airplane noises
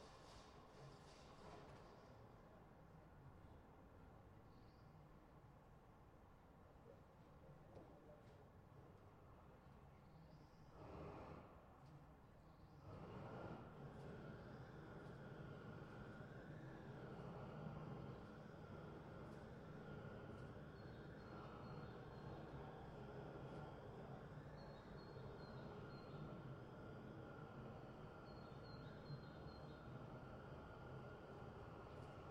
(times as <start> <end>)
12.8 32.3